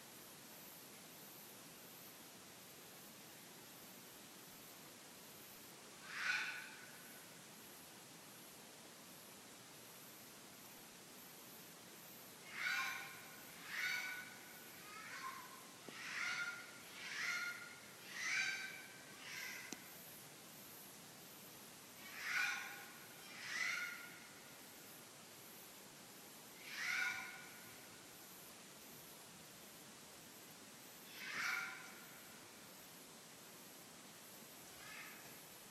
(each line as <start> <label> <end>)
6.0 Red Fox barking 6.9
12.5 Red Fox barking 19.7
22.0 Red Fox barking 24.3
26.6 Red Fox barking 27.7
31.1 Red Fox barking 32.1